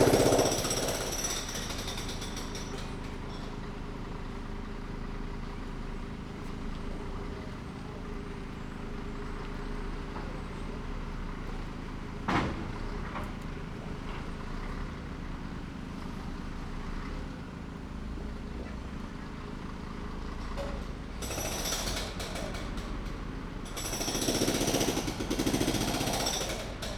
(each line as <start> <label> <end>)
0.0 sputter of a gas generator 3.3
0.0 pneumatic drill crushing concrete 3.6
20.6 pneumatic drill crushing concrete 26.9
23.7 sputter of a gas generator 26.9